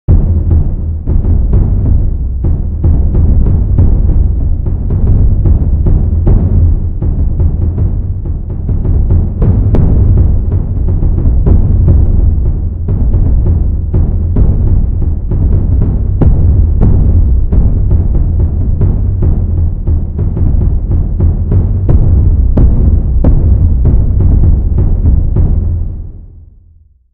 Reverbed drums 0.1 - 26.5

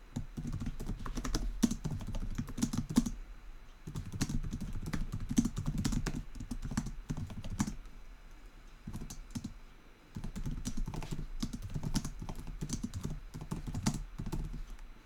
Typing on a laptop 0.2 - 3.2
Typing on a laptop 3.8 - 7.9
Typing on a laptop 8.8 - 14.9

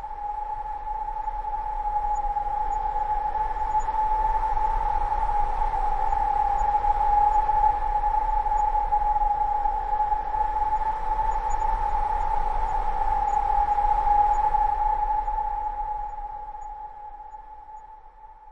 wind 0.0 - 18.5

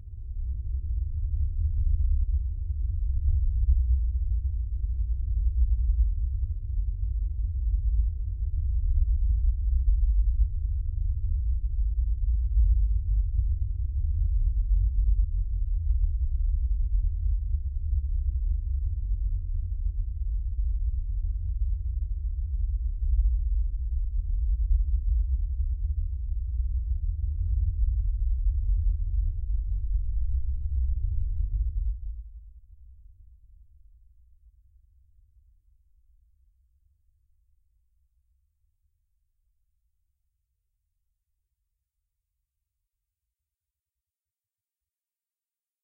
Deep Dark Bass 0.0 - 33.0

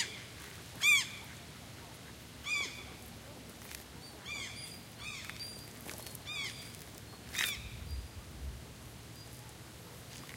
Birds flying by and swimming in a pond nearby 0.0 - 10.3
wind 0.0 - 10.3

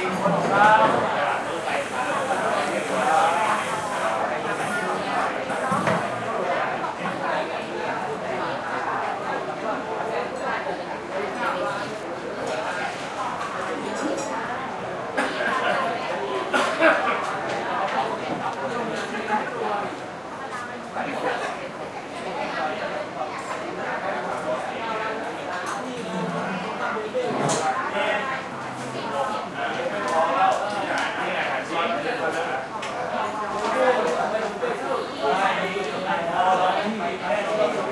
heavy air conditioner tone 0.0 - 13.2

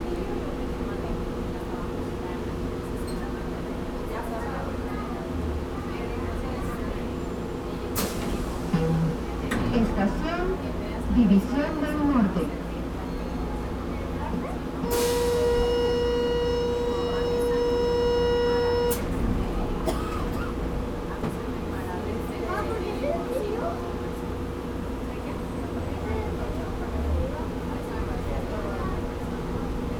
Public address system announcing arrival 8.0 - 13.0
Public address system announcing arrival 14.1 - 20.3

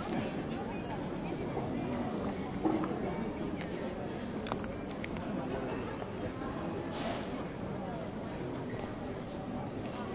tourists from all nations sitting and drinking coffee 0.0 - 10.1

